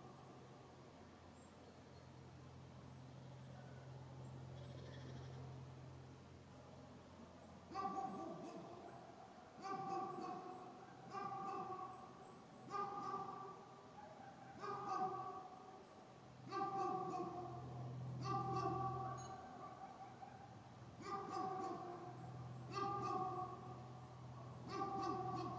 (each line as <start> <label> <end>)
7.7 dogs 15.8
16.4 dogs 25.5